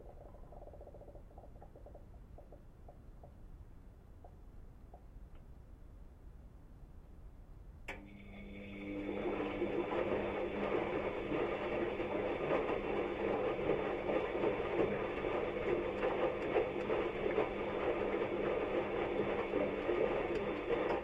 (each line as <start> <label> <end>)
7.9 Washing machine doing a washing cycle 21.0